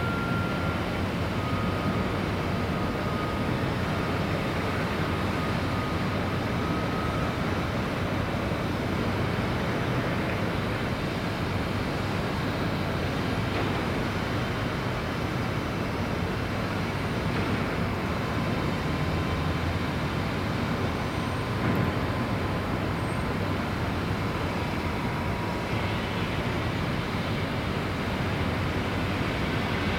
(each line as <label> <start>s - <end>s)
many construction sites nearby 0.0s - 29.9s